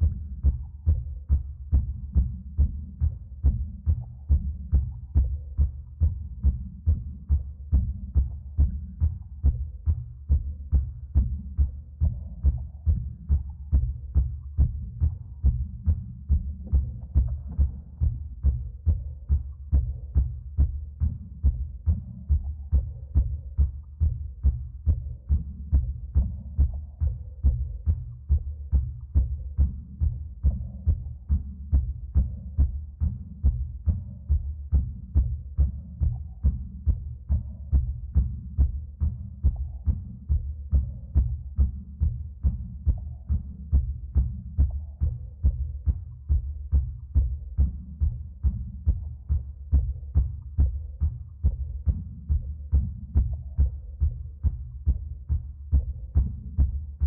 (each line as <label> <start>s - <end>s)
heartbeat 0.0s - 57.0s